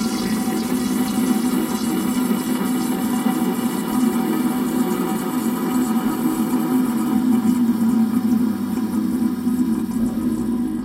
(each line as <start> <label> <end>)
0.0 dead toilet flush 10.8
7.8 rumble 10.8
9.5 bubbles 10.8